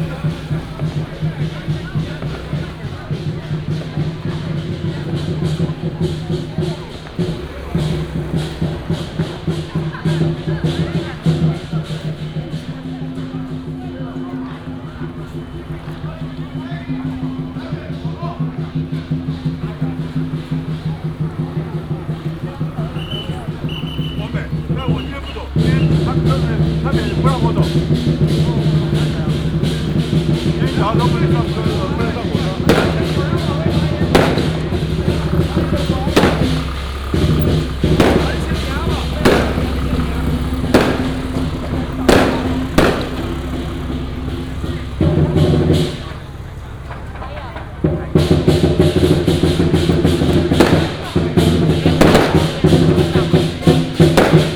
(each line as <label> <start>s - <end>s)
Crowded crowd 0.0s - 54.5s
Fireworks and firecrackers sound 0.0s - 54.5s